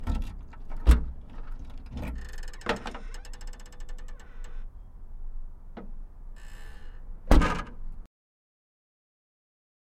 Opening and closing of Ford Taurus trunk 0:07.2 - 0:07.9

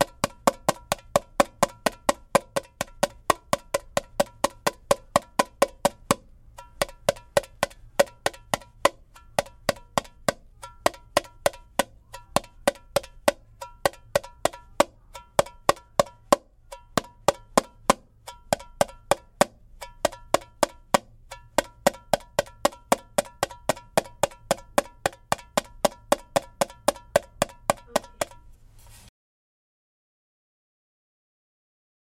tamborim 0:00.0 - 0:28.6

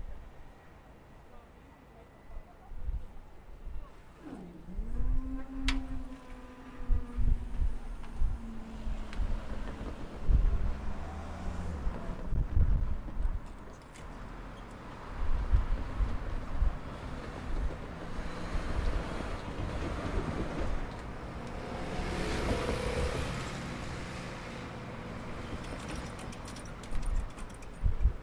TRAFFIC 0:00.0 - 0:28.2
buses 0:00.0 - 0:28.2
wind 0:00.0 - 0:28.2
passenger train passes 0:06.3 - 0:13.4
passenger train passes 0:14.2 - 0:26.5

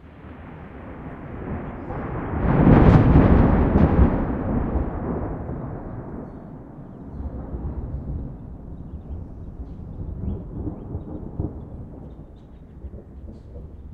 distant thunder 0:00.0 - 0:13.9
rain with increasing intensity 0:00.0 - 0:13.9
sparrows 0:06.2 - 0:07.4
sparrows 0:08.0 - 0:13.9

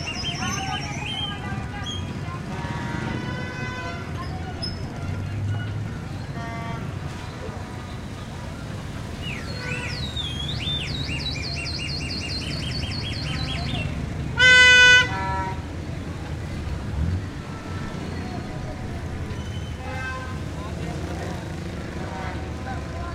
heavy traffic 0:00.0 - 0:23.1
many people talking 0:00.0 - 0:23.1
horns 0:02.4 - 0:07.3
horns 0:14.3 - 0:15.7

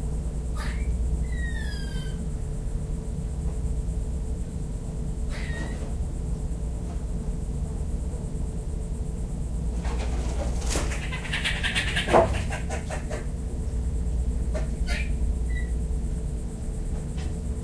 lizards 0:00.0 - 0:07.0
Squirrels 0:00.5 - 0:02.3
birds 0:00.5 - 0:02.3
Squirrels 0:05.3 - 0:06.0
birds 0:05.3 - 0:06.0
lizards 0:09.3 - 0:17.6
birds 0:09.8 - 0:13.4
Squirrels 0:10.4 - 0:13.3
Squirrels 0:14.5 - 0:15.8
birds 0:14.5 - 0:15.8

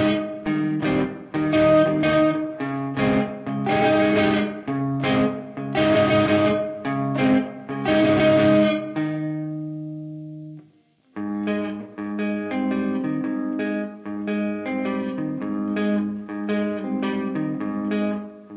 rhythm guitar 0:00.0 - 0:18.5

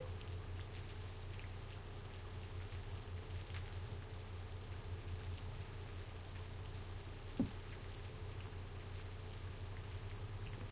rain 0:00.0 - 0:10.7

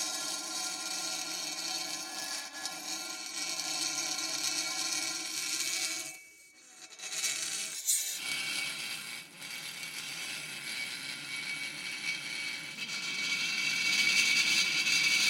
Dry Ice coming in contact with various metals 0:00.0 - 0:15.2

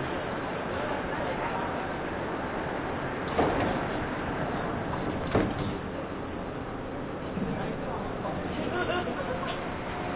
train 0:00.0 - 0:10.1

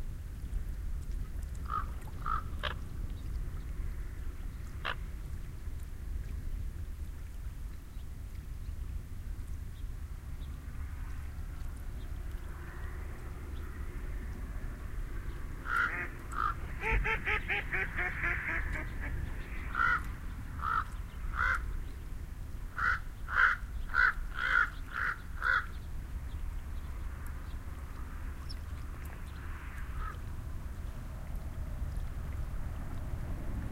Ducks can be heard feeding and vocalizing 0:01.6 - 0:05.0
Ducks can be heard feeding and vocalizing 0:15.1 - 0:21.8

